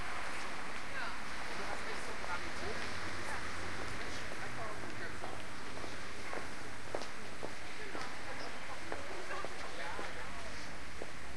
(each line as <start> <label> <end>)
0.0 Traffic 11.3
2.4 Walking 11.2